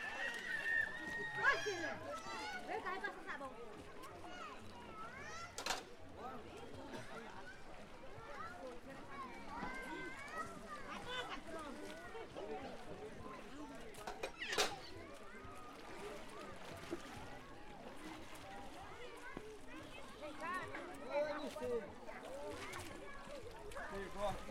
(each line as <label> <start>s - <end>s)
banho de rio 0.0s - 24.5s